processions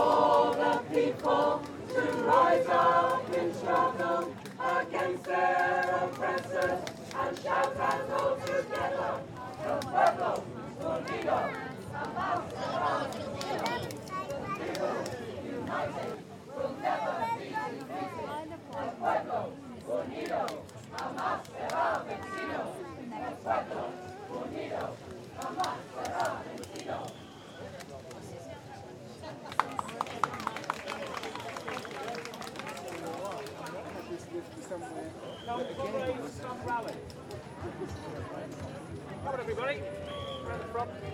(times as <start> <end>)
0.0 27.8